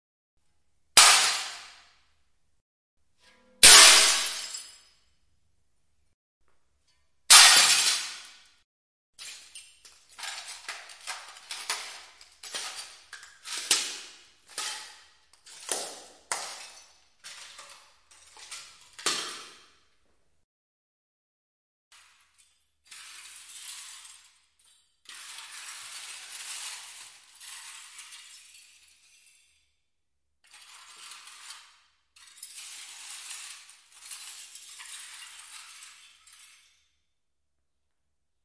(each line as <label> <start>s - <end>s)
Breaks huge mirrors 1.0s - 2.0s
Breaks huge mirrors 3.6s - 5.0s
Breaks huge mirrors 7.3s - 8.6s
Breaks huge mirrors 22.4s - 29.7s
Breaks huge mirrors 30.5s - 37.0s